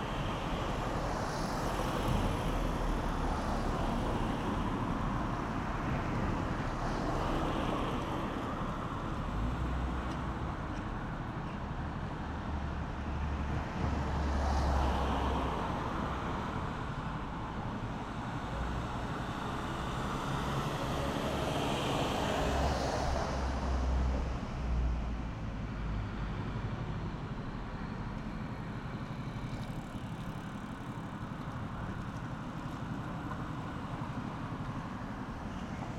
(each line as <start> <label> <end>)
0.0 autos 35.9